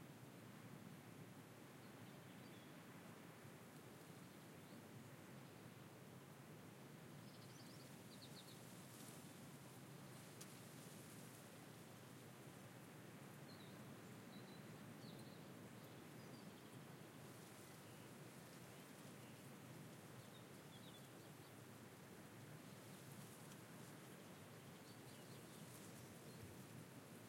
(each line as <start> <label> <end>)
0.0 wind 27.2